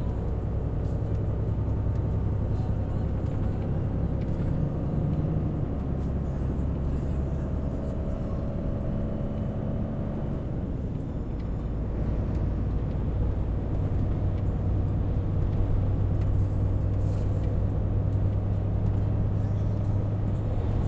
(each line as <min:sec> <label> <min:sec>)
0:00.0 truck engine 0:20.8